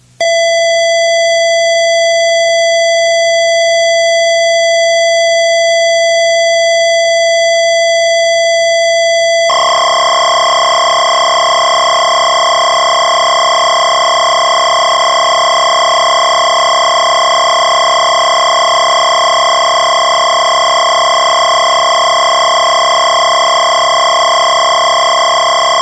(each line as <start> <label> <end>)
9.5 midi sync track 25.8